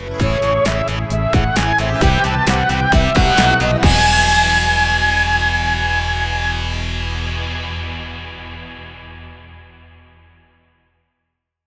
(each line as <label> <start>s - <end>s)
Outro Jingle 0.0s - 9.1s